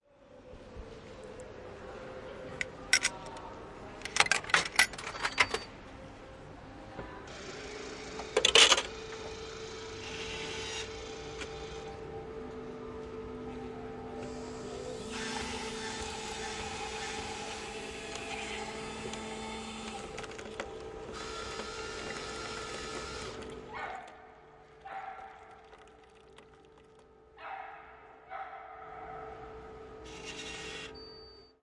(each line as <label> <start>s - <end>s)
caffe machine 7.3s - 12.6s
caffe machine 13.7s - 23.7s
caffe machine 30.0s - 31.5s